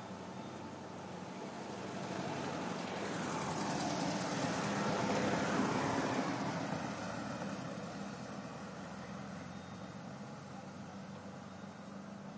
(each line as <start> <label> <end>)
0.0 Cars 12.3
0.0 river 12.3
0.0 wind 12.3
0.0 Birds sing 1.6
9.0 Birds sing 12.3